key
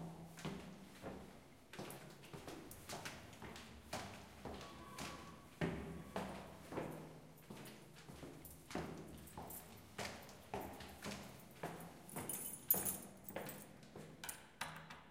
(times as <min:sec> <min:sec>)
0:11.8 0:13.7